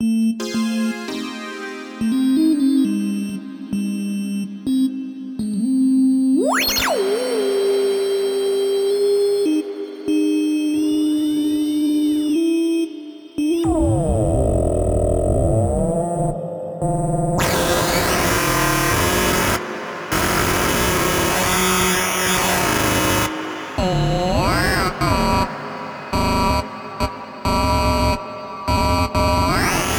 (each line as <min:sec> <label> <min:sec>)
0:13.9 analog synth with audio rate modulation 0:29.9
0:17.4 saw wave mixed with pulse wave 0:29.9